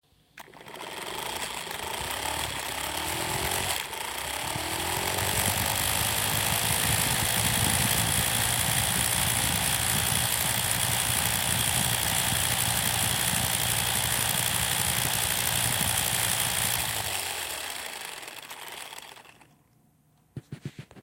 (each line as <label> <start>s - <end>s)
Engine Rev 0.4s - 19.6s